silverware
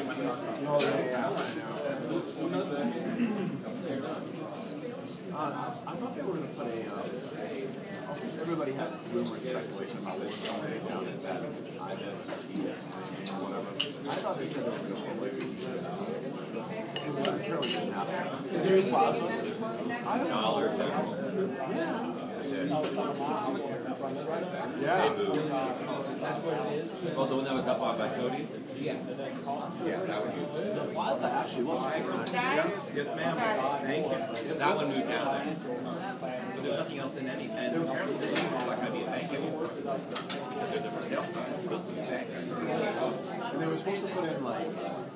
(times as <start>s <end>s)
17.0s 17.9s, 38.2s 39.5s